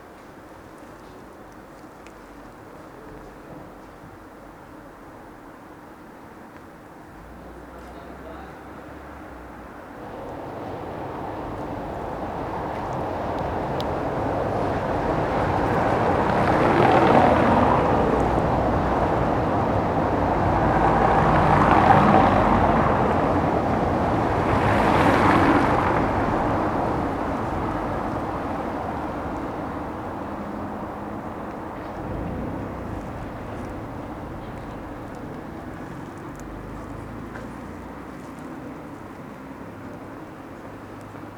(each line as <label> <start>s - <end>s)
cyclists 0.0s - 41.3s
night traffic 0.0s - 41.3s
passers by 7.2s - 41.3s